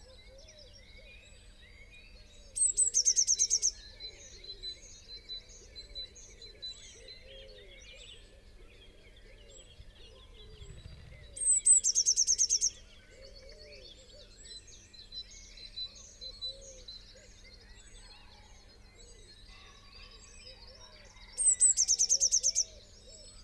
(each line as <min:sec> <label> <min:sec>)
0:00.0 blackbird 0:23.4
0:00.0 pheasant 0:23.4
0:02.5 blue tit 0:04.4
0:07.0 collared dove 0:14.3
0:09.3 blue tit 0:14.7
0:09.4 wood pigeon 0:11.9
0:19.4 crow 0:22.6
0:20.5 blue tit 0:23.4